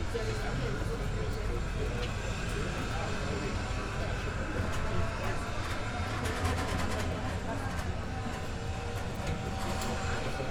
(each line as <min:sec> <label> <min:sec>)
0:00.0 windy terrace 0:10.5